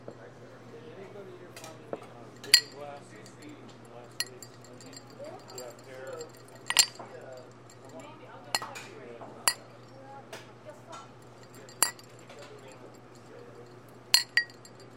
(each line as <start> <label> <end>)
2.4 empty glasses clinking together 8.9
9.5 empty glasses clinking together 9.9
11.2 empty glasses clinking together 14.9